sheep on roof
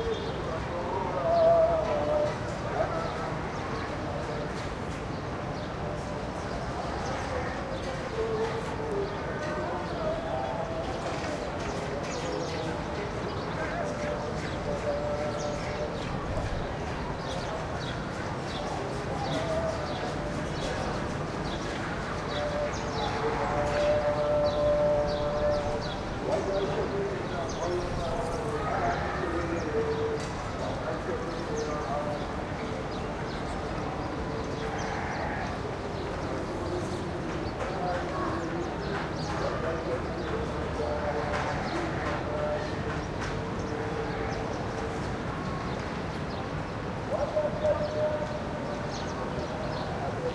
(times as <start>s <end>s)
34.5s 44.7s